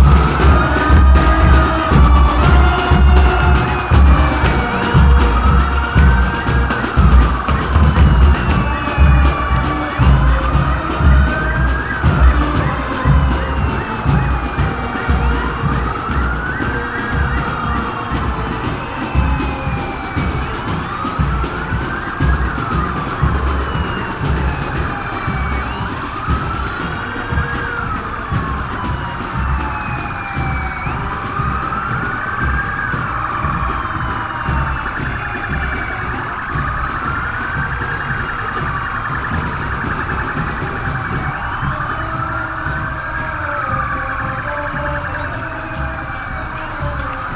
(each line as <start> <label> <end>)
0.0 marching bands 47.3